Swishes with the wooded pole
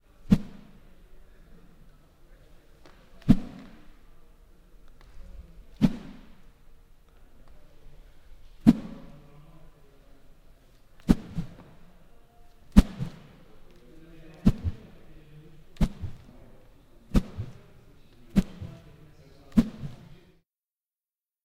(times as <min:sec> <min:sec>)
0:00.2 0:00.8, 0:03.2 0:03.8, 0:05.7 0:06.4, 0:08.6 0:09.1, 0:11.0 0:11.8, 0:12.7 0:13.4, 0:14.4 0:15.0, 0:15.8 0:16.3, 0:17.1 0:17.7, 0:18.3 0:20.1